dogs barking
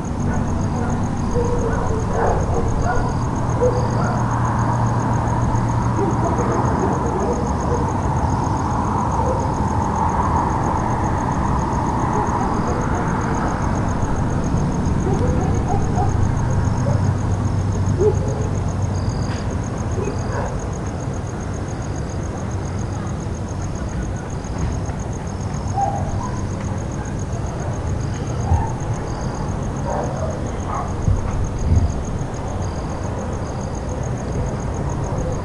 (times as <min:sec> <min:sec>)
0:00.2 0:04.3, 0:05.9 0:08.0, 0:15.0 0:17.1, 0:18.0 0:18.6, 0:20.0 0:20.6, 0:25.7 0:26.5, 0:29.8 0:31.0